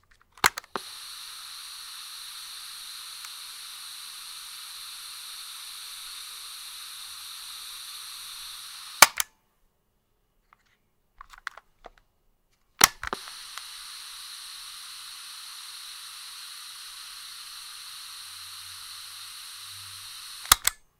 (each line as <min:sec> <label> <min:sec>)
0:00.0 cassette recorder being handled 0:03.6
0:00.7 Hiss 0:09.2
0:07.5 fast forward-rewind buttons pressed 0:09.3
0:08.2 cassette recorder being handled 0:09.3
0:10.5 cassette recorder being handled 0:12.1
0:12.8 cassette recorder being handled 0:14.3
0:13.2 Hiss 0:20.8
0:16.7 fast forward-rewind buttons pressed 0:20.8
0:20.0 cassette recorder being handled 0:20.8